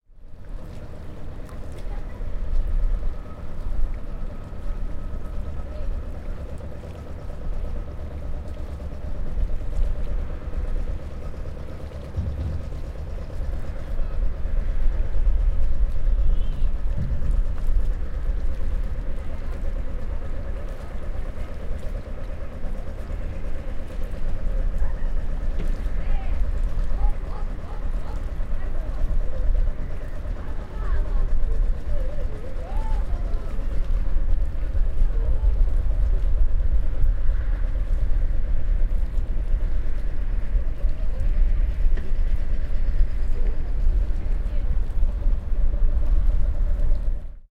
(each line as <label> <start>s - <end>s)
calm sea 0.0s - 47.5s
engine running in the distance 0.0s - 47.5s
backnoise of the town 0.1s - 47.5s